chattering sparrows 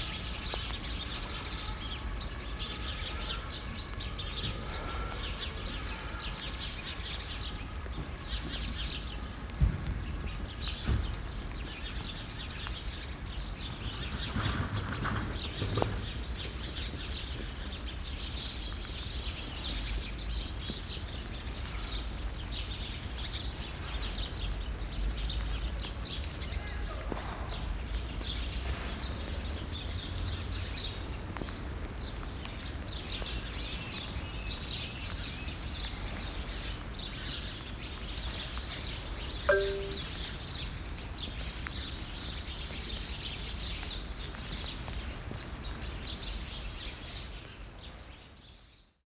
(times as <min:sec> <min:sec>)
0:32.9 0:38.1